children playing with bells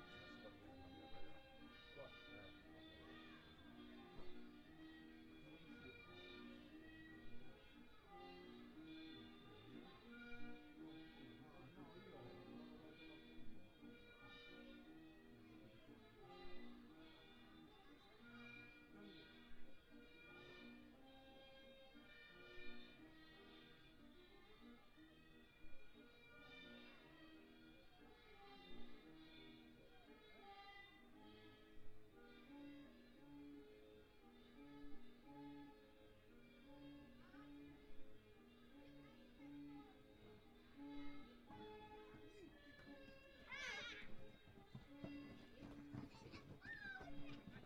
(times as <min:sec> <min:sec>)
0:40.8 0:47.6